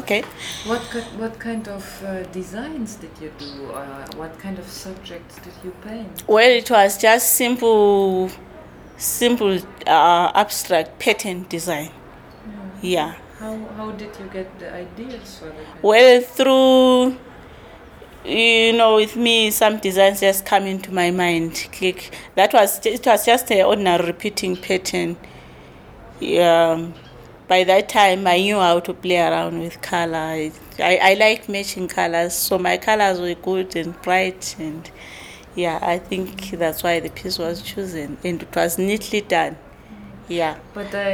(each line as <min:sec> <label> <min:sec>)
0:09.0 Nonnie talks 0:13.6
0:18.2 Nonnie talks 0:25.3
0:26.2 Nonnie talks 0:41.1